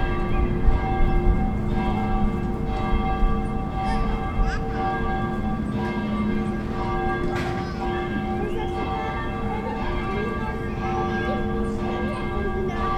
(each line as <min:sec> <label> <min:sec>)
0:00.0 Church Bells 0:12.9